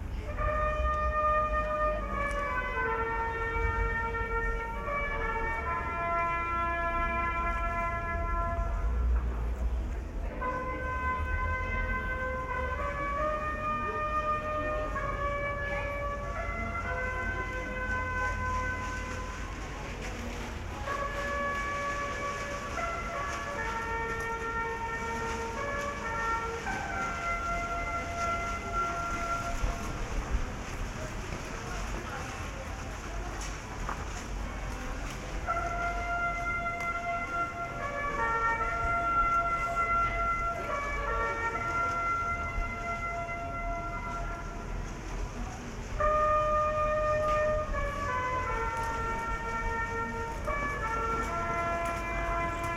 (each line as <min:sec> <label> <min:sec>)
0:00.0 hourly bugle call 0:09.1
0:10.4 hourly bugle call 0:30.2
0:35.3 hourly bugle call 0:45.2
0:46.0 hourly bugle call 0:52.7